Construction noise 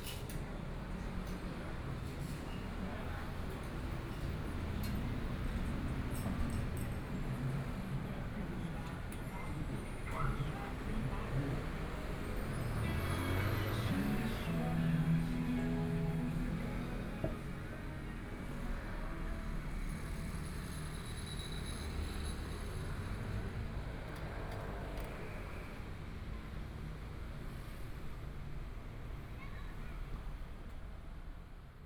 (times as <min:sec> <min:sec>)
0:09.6 0:23.8